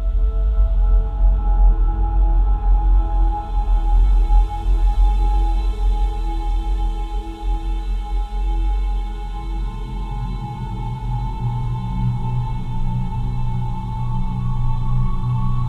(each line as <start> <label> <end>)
0.0 Drums 15.6